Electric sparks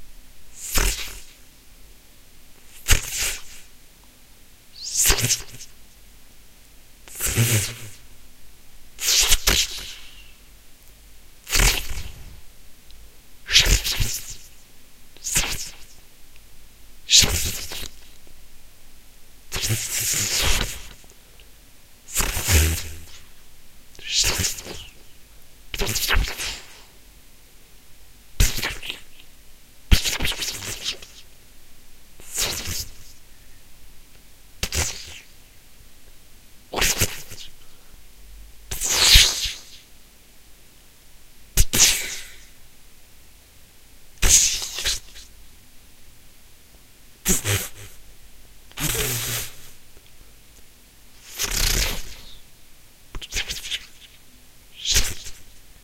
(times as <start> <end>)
22.1 23.2, 44.2 45.2, 48.8 49.7, 51.2 52.3